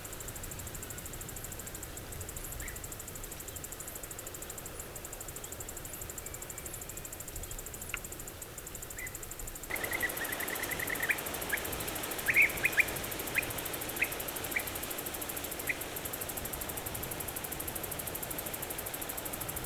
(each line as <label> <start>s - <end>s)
cicadas 0.0s - 19.6s
birds 9.7s - 16.3s
distance traffic 9.7s - 17.3s